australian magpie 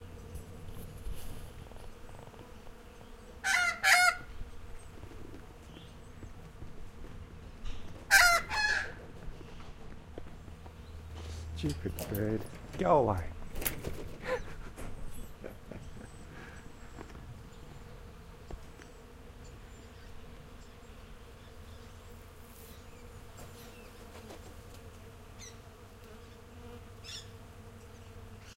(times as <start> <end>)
8.1 9.0